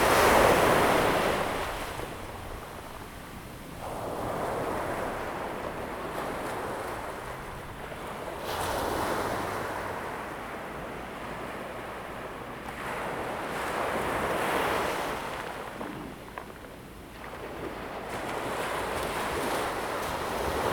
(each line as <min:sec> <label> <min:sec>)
0:00.0 waves 0:20.7